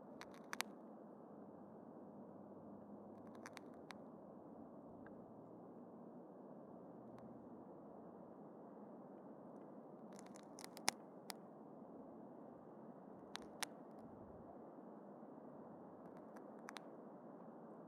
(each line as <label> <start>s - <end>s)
subtle cracking micro sound 0.2s - 0.8s
subtle cracking micro sound 3.2s - 4.0s
subtle cracking micro sound 10.1s - 11.4s
subtle cracking micro sound 13.3s - 14.0s
subtle cracking micro sound 16.0s - 16.9s